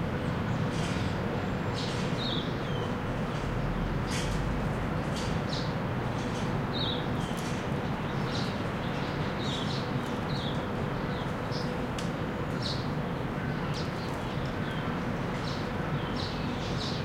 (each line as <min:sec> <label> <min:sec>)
0:00.0 distant noise from an aircon unit 0:17.0
0:00.0 garden birds 0:17.0
0:00.0 traffic sounds from the city and the street 0:17.0